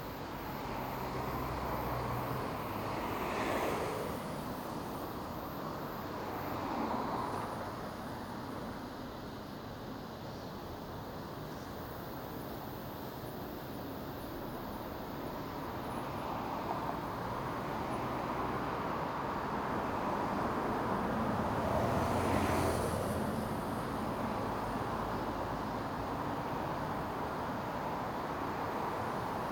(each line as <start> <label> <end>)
0.0 Cars passing by 9.4
0.0 Cicada 29.5
14.3 Cars passing by 29.5